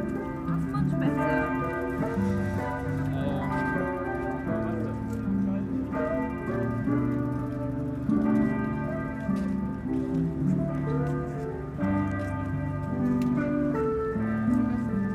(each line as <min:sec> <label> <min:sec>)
0:00.0 Cathedral Bell 0:15.1
0:00.0 guitar accompaniment 0:15.1